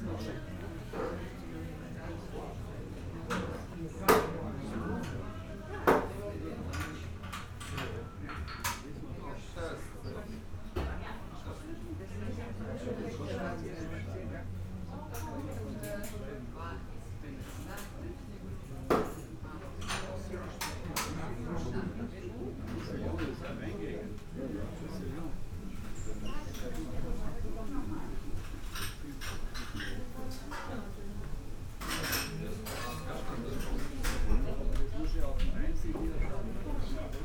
conversations of guests 0:00.0 - 0:37.2

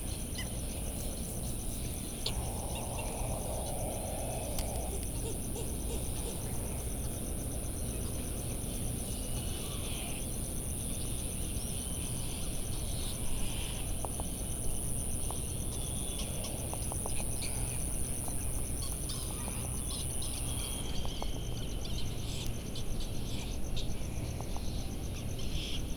laysan albatross 0:00.1 - 0:08.3

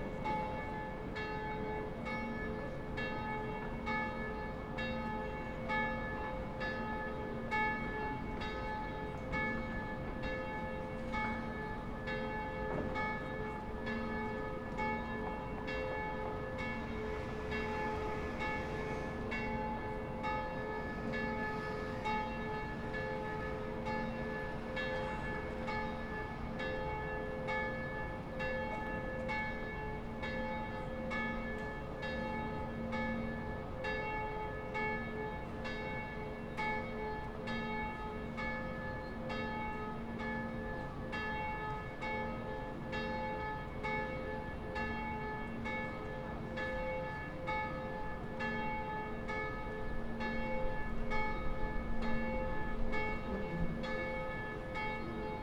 church bells of all churches 0:00.0 - 0:55.4

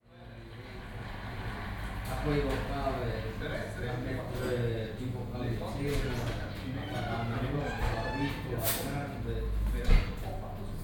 italian game show on TV 0:00.0 - 0:09.4

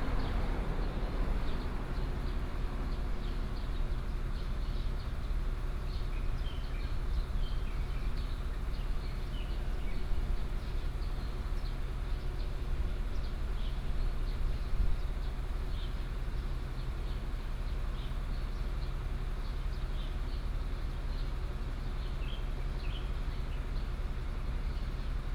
Traffic Sound 0:00.0 - 0:05.5
Birdsong sound 0:21.1 - 0:23.9

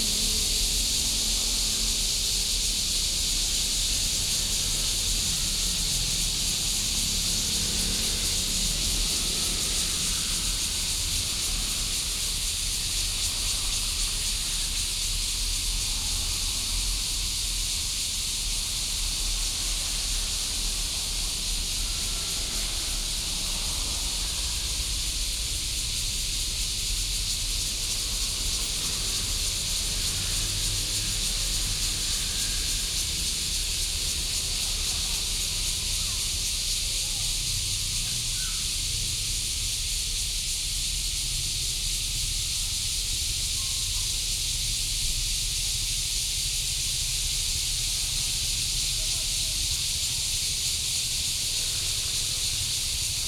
Traffic sound 0:00.0 - 0:53.2
cicadas sound 0:00.0 - 0:53.2

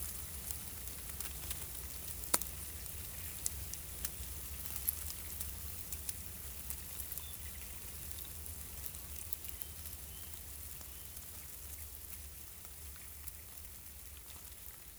ants are working 0:00.0 - 0:14.9

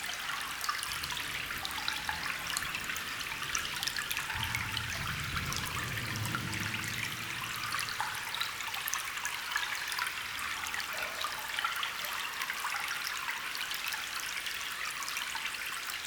small waterstream 0:00.0 - 0:16.0

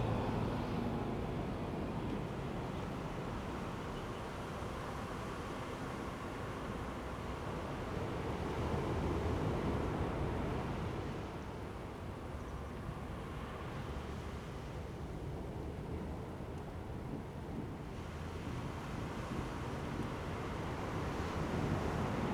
waves 0:00.0 - 0:22.3

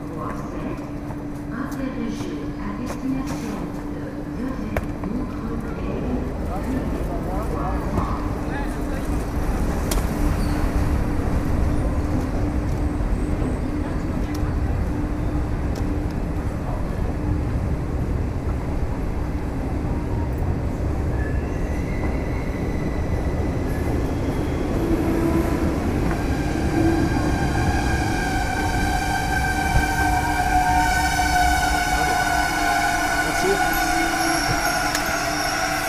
Train departure/arrival announcement 0:00.0 - 0:09.9
Train departure/arrival announcement 0:22.8 - 0:35.8

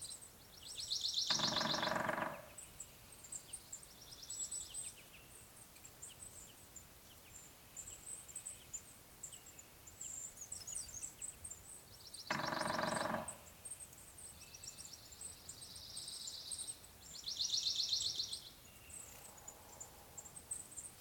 pileated woodpecker calls 0:01.1 - 0:02.7
other birds not yet identified 0:01.2 - 0:02.8
woodpecker drumming 0:01.3 - 0:02.7
crows 0:01.3 - 0:02.6
other birds not yet identified 0:12.3 - 0:13.6
woodpecker drumming 0:12.3 - 0:13.6
pileated woodpecker calls 0:12.3 - 0:13.6
crows 0:12.3 - 0:13.5

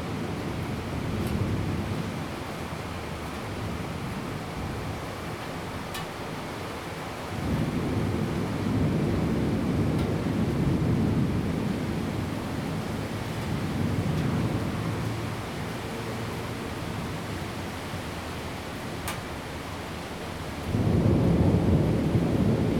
Thunder 0:07.4 - 0:15.0
traffic sound 0:13.0 - 0:20.5
Thunder 0:20.7 - 0:22.7

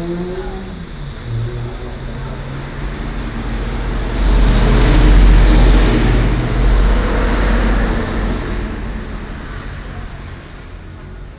Traffic noise 0:00.0 - 0:11.3

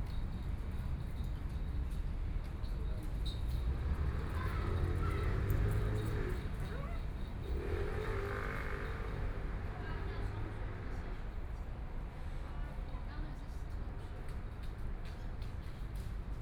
Traffic Sound 0:03.0 - 0:13.0

